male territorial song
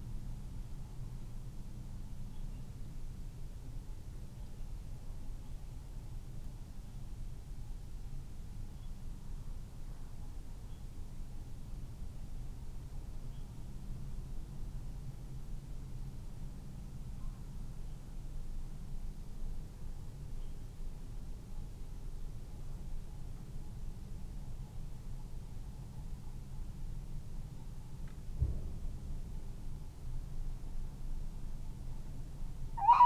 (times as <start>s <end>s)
32.8s 33.0s